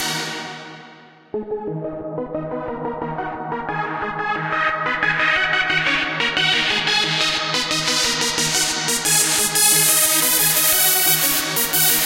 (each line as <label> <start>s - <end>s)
Vocals 0.0s - 0.9s
Bass 0.0s - 12.0s